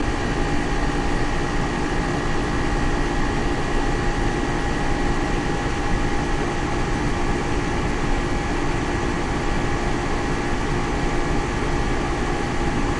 0.0s AC fan 12.9s

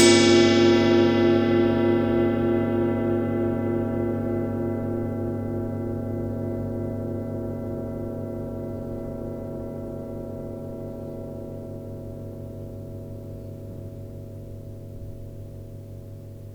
0.0s tibetan bowls 11.8s

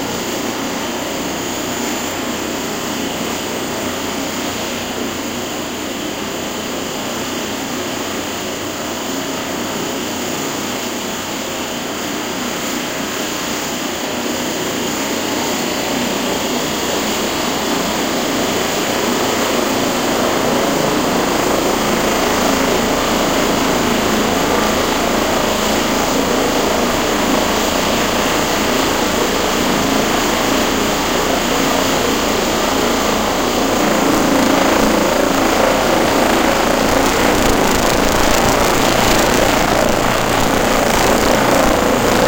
14.6s helicopter start 42.2s
32.0s humming 42.2s

